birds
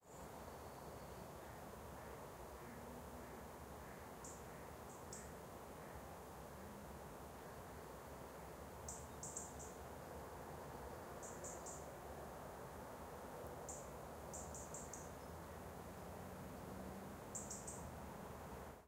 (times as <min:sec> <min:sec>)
0:00.1 0:06.1, 0:08.9 0:09.8, 0:13.7 0:15.6, 0:17.3 0:17.9